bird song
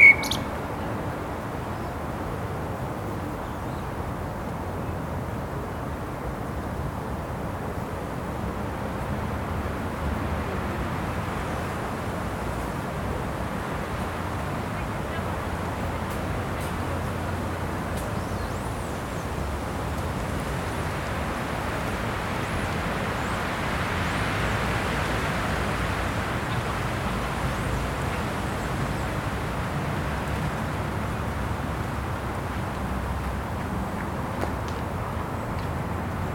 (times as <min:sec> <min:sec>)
0:00.0 0:00.6, 0:18.0 0:19.4